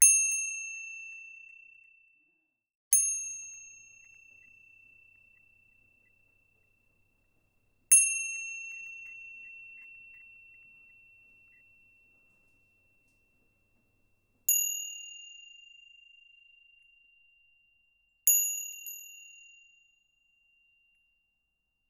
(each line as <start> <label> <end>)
0.0 small bell that is struck and left to ring 6.1
7.9 small bell that is struck and left to ring 13.4
14.5 small bell that is struck and left to ring 21.3